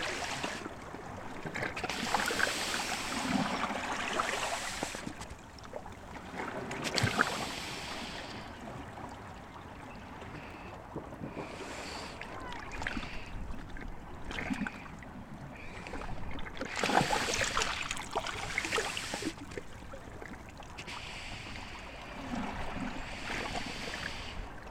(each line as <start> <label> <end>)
0.0 breathing sea 24.7